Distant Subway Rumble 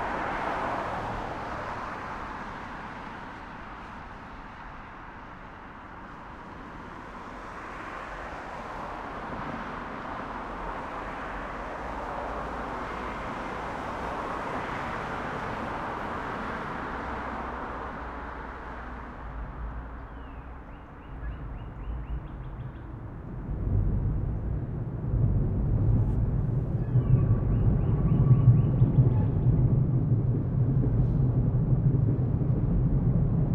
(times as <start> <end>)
17.4 33.5